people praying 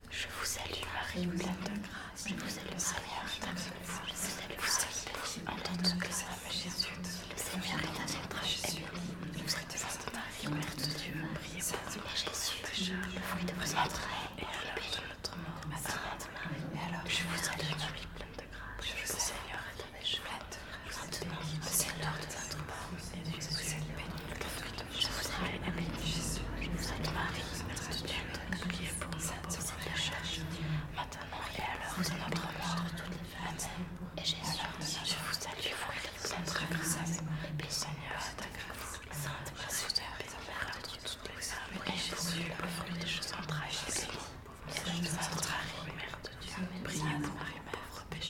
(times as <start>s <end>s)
23.1s 32.8s